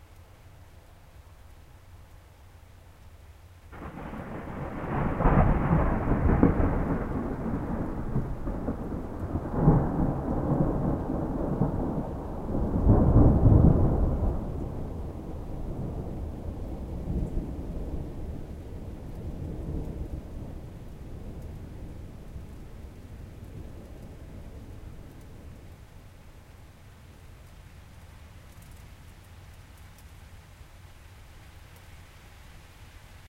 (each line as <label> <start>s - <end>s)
rain 0.0s - 33.2s
Thunder 3.7s - 25.6s